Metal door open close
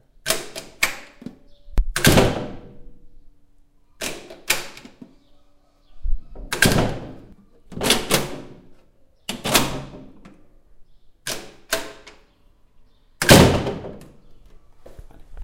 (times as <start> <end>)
6.3 8.7, 9.3 10.4